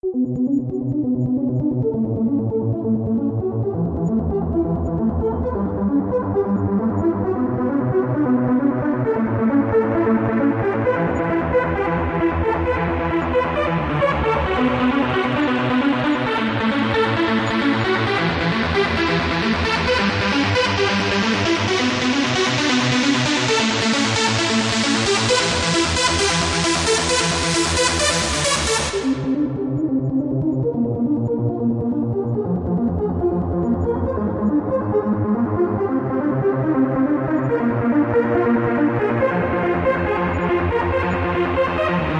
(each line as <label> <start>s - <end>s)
synth 0.0s - 42.1s